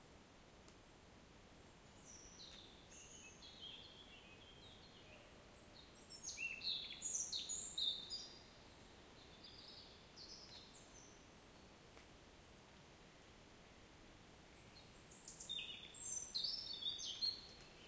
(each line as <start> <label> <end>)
1.7 birds 12.7
14.5 birds 17.8